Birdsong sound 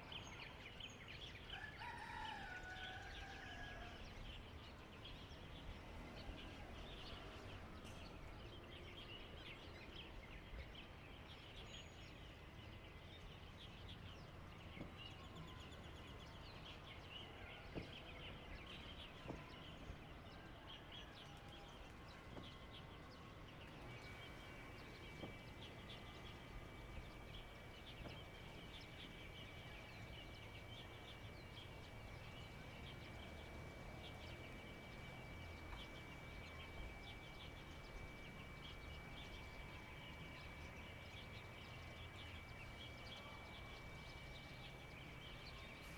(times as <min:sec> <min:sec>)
0:23.6 0:45.9